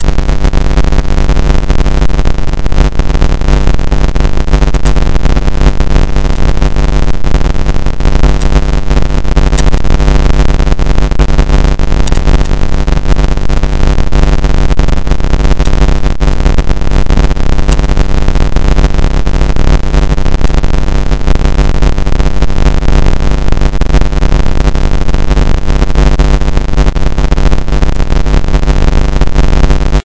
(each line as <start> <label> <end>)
0.0 noise 30.0